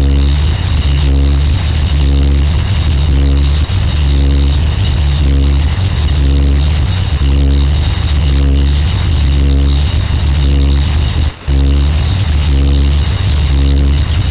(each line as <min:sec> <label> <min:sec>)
0:00.0 Feedback loop 0:14.3